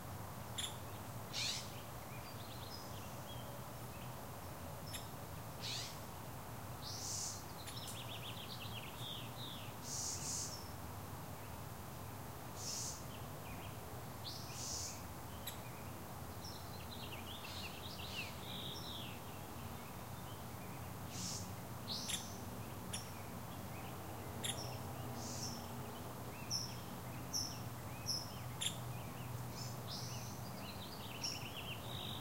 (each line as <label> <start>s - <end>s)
Birds Chirping 0.6s - 4.1s
Birds Chirping 4.8s - 6.0s
Birds Chirping 12.6s - 32.2s